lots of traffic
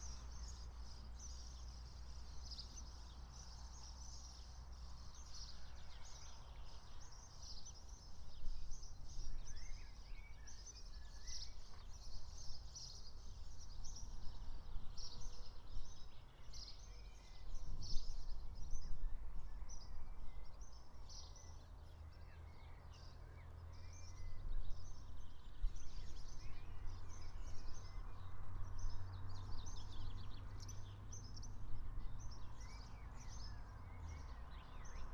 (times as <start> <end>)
26.7 35.1